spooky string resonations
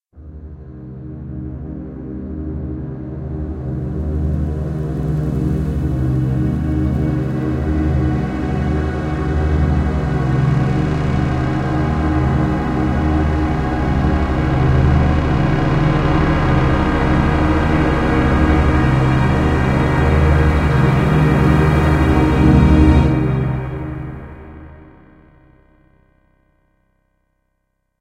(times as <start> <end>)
5.8 25.2